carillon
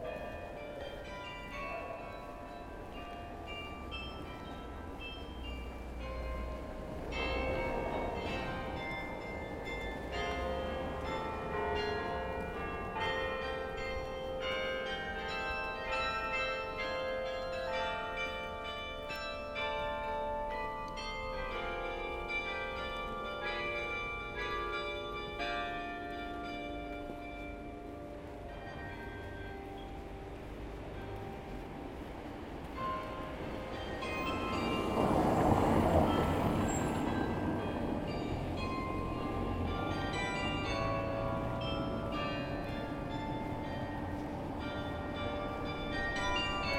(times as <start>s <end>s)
32.7s 46.7s